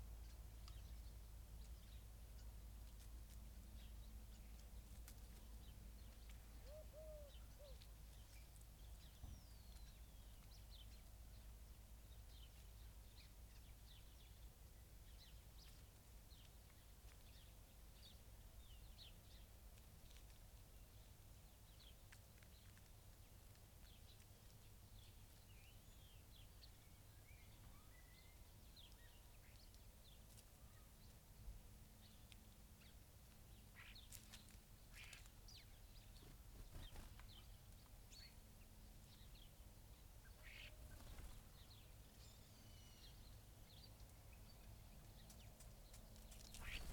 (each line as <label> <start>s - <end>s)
background noise 0.0s - 46.9s
starlings on bird feeders 0.0s - 46.9s
blackbird 0.1s - 11.5s
collared dove 2.8s - 10.4s
blackbird 21.6s - 31.2s
blackbird 32.0s - 46.9s
greenfinch 40.2s - 43.3s
collared dove 45.1s - 46.9s
greenfinch 46.4s - 46.9s